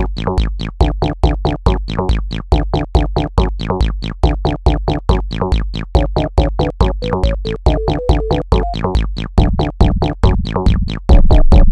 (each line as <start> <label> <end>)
0.0 music 11.7